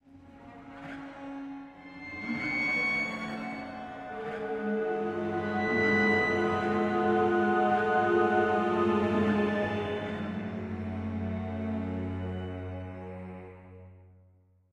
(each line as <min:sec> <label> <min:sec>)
0:01.9 scary music 0:13.4